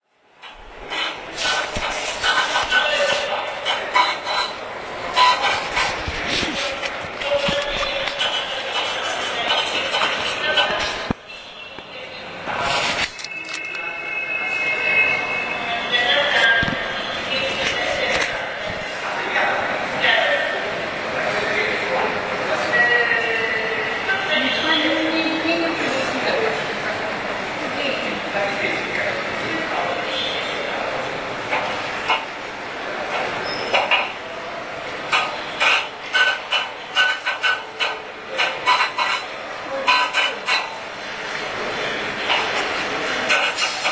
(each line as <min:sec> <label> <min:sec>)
0:00.4 people 0:43.9
0:00.4 printing the ticket 0:11.2
0:00.5 paying for the ticket 0:19.0
0:01.4 announcements 0:33.3
0:12.5 printing the ticket 0:13.9
0:34.2 announcements 0:41.0
0:35.1 printing the ticket 0:41.4